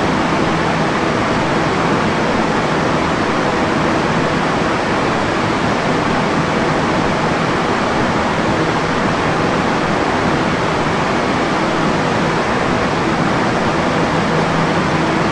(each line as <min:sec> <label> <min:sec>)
0:00.0 Air ventilation system 0:15.3